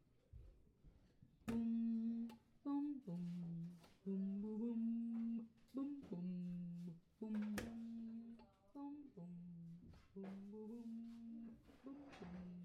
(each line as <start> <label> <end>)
1.5 singing 12.6